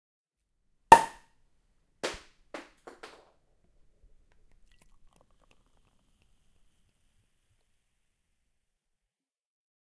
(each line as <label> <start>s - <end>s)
cork falls on ground 0.9s - 1.2s
Unpopping a champagne bottle 0.9s - 1.2s